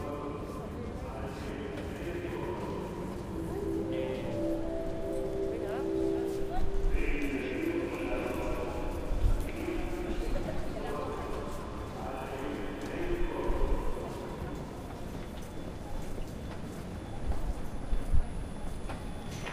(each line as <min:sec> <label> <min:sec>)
0:00.0 voices of speakers 0:16.4
0:00.0 people entering the train 0:19.5
0:00.0 train arriving 0:19.5
0:00.0 people walking 0:19.5